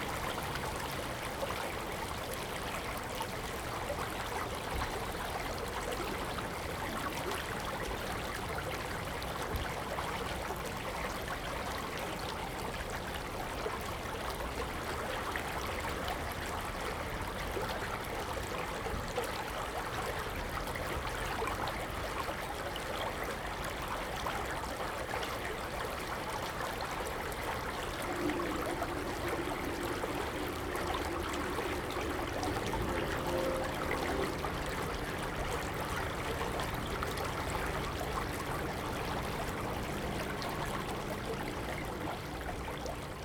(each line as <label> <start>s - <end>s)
Drainage channel 0.0s - 43.2s
Stream 0.0s - 43.2s
Traffic Sound 27.0s - 43.2s